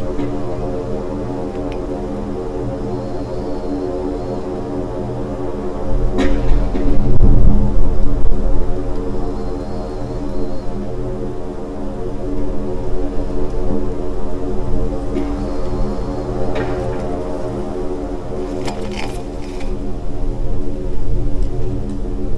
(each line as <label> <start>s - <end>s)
wind 0.0s - 22.3s
leaves 18.3s - 19.9s
sand and tiny stones 18.4s - 19.8s
broken reflector 18.4s - 19.9s